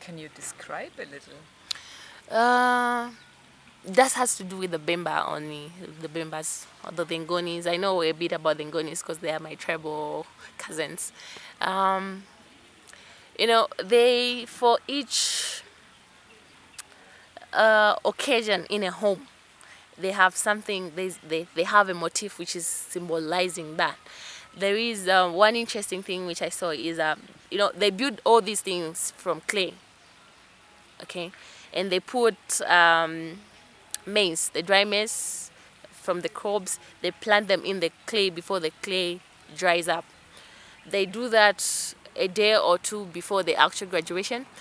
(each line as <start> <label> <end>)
0.0 she describes 3.2
3.9 she describes 12.2
13.4 she describes 15.6
17.4 she describes 19.3
20.0 she describes 29.8
31.0 she describes 33.4
34.0 she describes 40.0
40.9 she describes 44.6